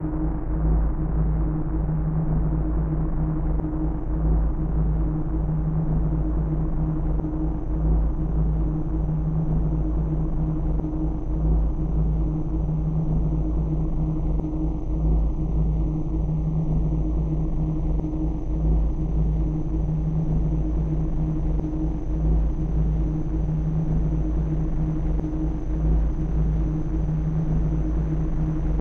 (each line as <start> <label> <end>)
0.0 Organic or industrial drone 28.8